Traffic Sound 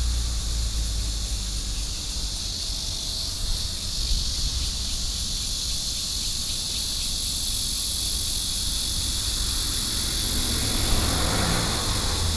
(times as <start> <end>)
7.2 12.3